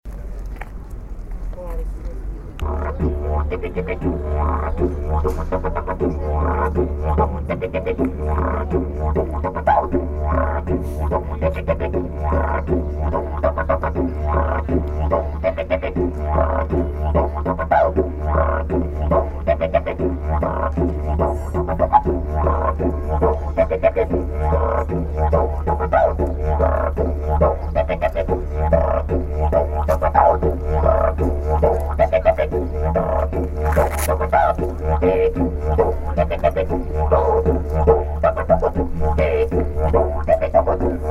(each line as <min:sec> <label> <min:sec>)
0:02.5 young woman plays didjeridoo 0:41.1